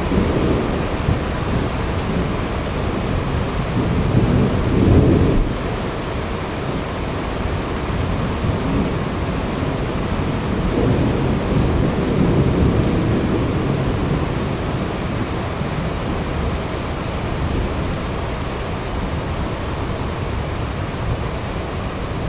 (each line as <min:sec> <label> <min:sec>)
0:00.0 distant thunderstorm 0:16.8
0:00.0 Heavy rain 0:22.2